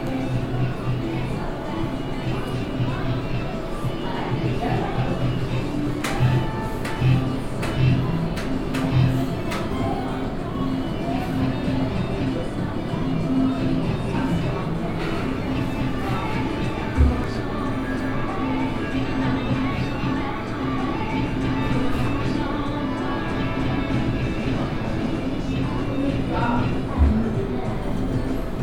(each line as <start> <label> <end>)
0.0 gambling machines 28.6
0.0 music ambience 28.6